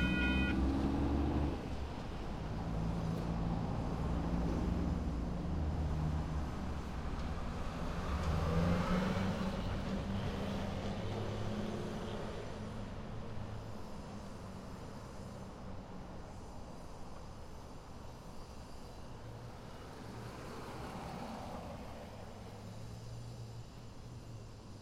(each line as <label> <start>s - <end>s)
whistle 0.0s - 0.6s
Short passenger train approaches & passes 0.0s - 8.2s